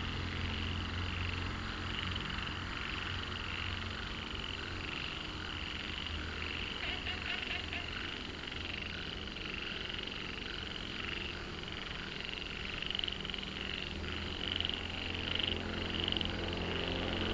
Traffic Sound 0:00.0 - 0:17.3
Frogs chirping 0:00.1 - 0:17.3

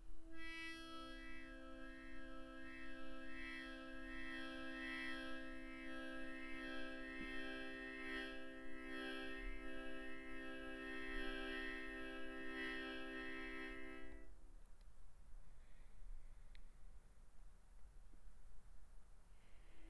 Frog Harmonica 0:00.3 - 0:14.3

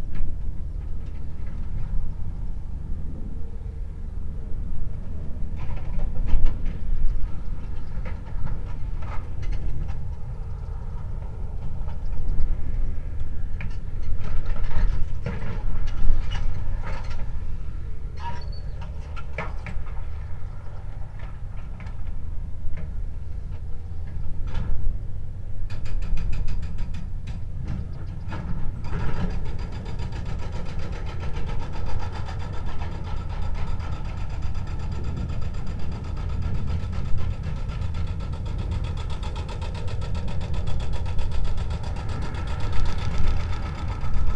excavator with a hydraulic hammer attachment operating in the distance 0:00.0 - 0:44.3

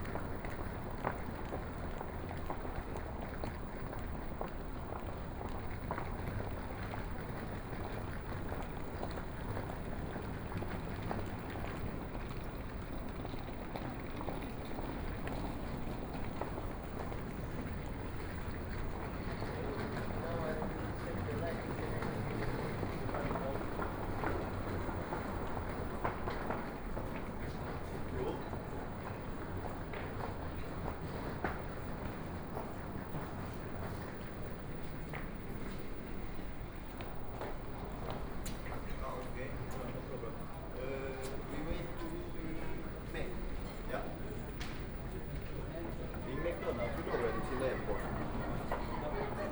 Walking 0:00.0 - 0:49.5

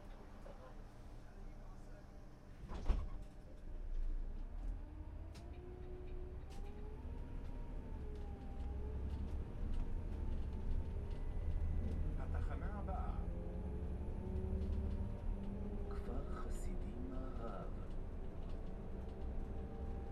walking bus 0:00.0 - 0:20.1
bus stop announcing sounds 0:15.8 - 0:17.9

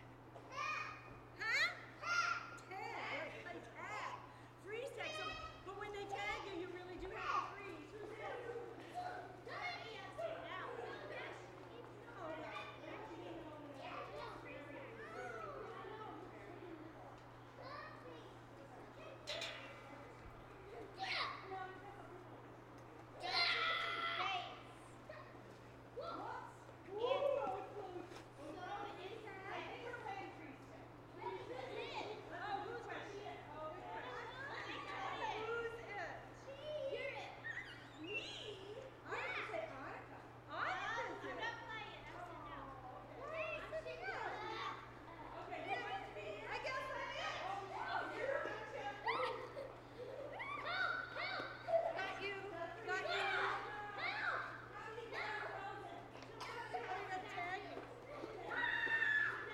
Kids playing tag 0:43.2 - 0:59.5

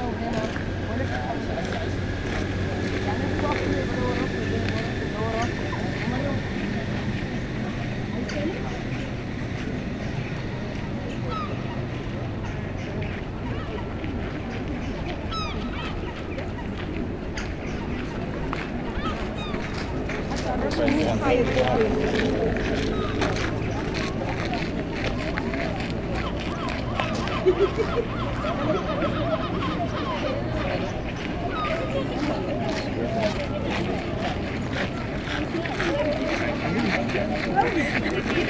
people walking 0:00.0 - 0:38.4
European Herring Gull 0:11.2 - 0:24.6
European Herring Gull 0:25.6 - 0:32.9

